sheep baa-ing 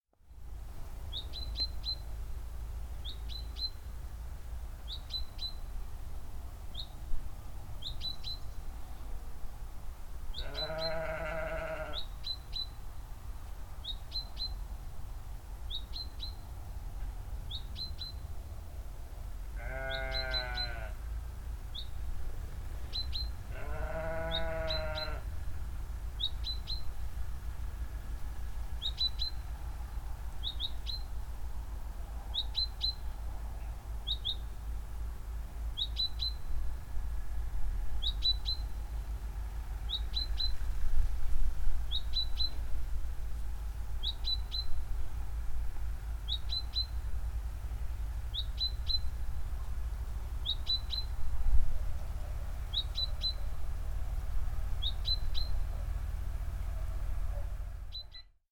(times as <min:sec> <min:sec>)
0:10.4 0:12.0, 0:19.6 0:21.0, 0:23.5 0:25.2